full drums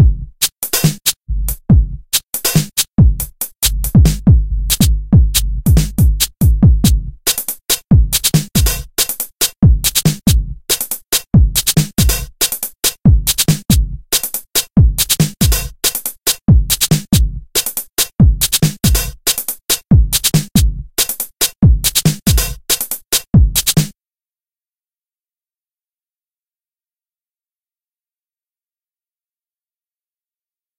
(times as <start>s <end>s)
0.0s 23.9s